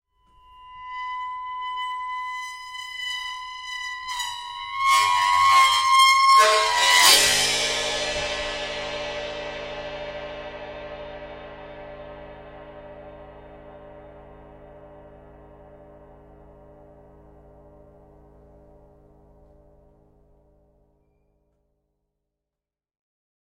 squeak with drum stick 0.3 - 7.7

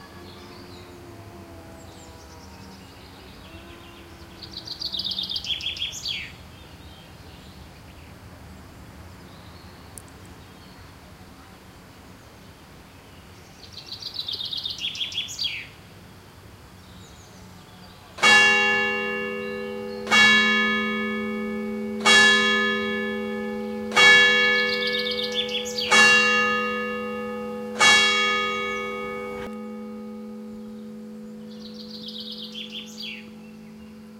church bells 18.2 - 34.1
Bird calls 22.4 - 34.1

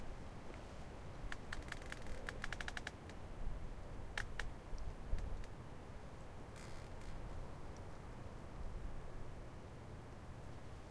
tree creak 1.4 - 3.0
tree creak 6.5 - 7.2

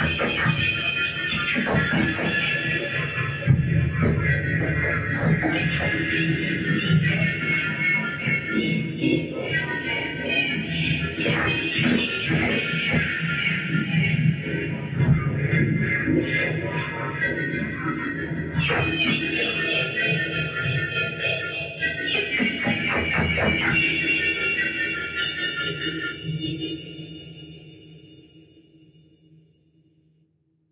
feedback loop 0.0 - 9.2

